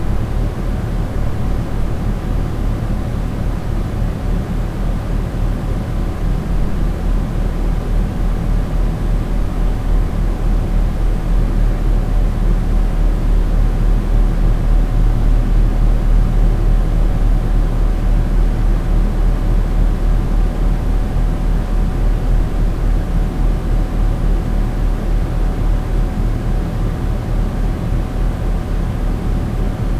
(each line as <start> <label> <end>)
0.0 neighbours AC unit 29.9